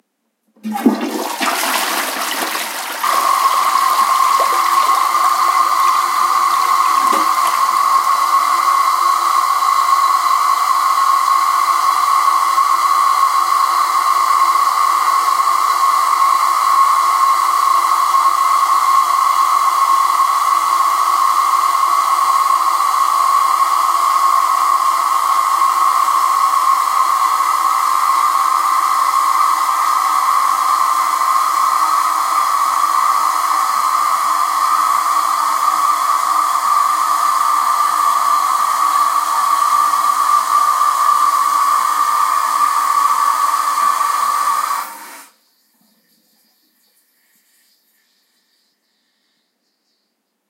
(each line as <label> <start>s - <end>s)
Toilet flushing 0.5s - 46.8s